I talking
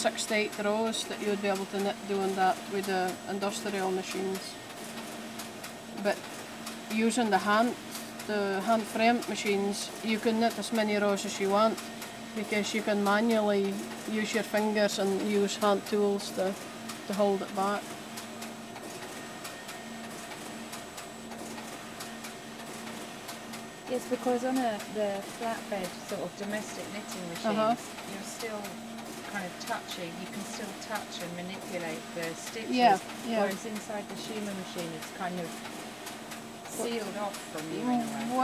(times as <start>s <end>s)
27.3s 27.8s, 36.7s 38.4s